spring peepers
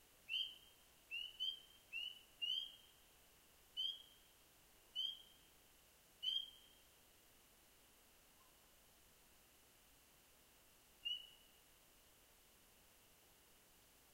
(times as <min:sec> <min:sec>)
0:00.3 0:02.9, 0:03.8 0:04.3, 0:05.0 0:05.4, 0:06.2 0:06.8